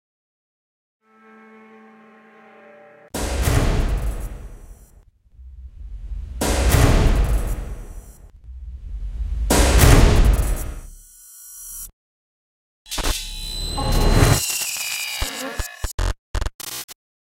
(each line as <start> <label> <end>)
5.4 Big crush of metal 10.9